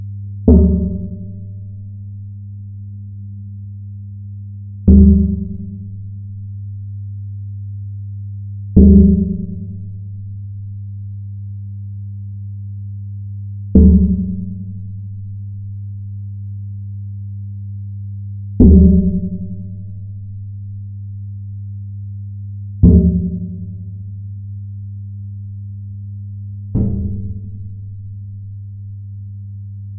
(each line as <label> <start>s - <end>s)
Strikes on an internal gas heater flue pipe 26.7s - 27.8s